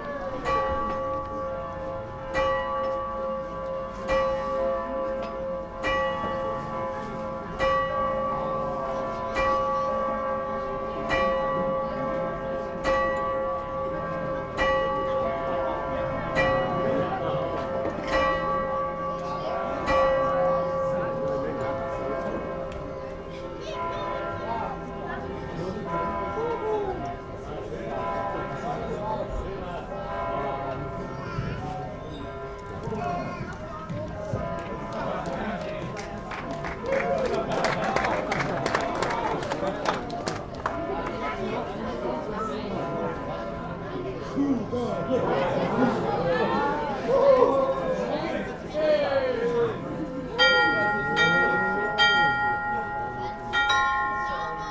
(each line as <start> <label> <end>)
0.4 Astronomical clock 28.6
50.4 Astronomical clock 54.7